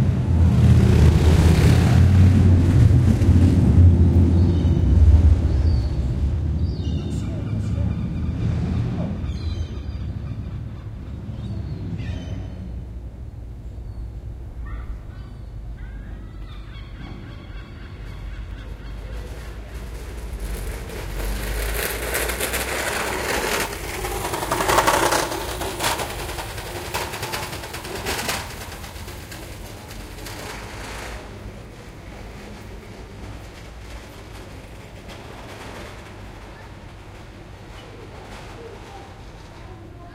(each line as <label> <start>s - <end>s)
cars passing 0.0s - 15.0s
birds 5.5s - 12.9s
birds 13.7s - 20.0s
Seagulls 14.6s - 19.5s
cars passing 17.1s - 35.4s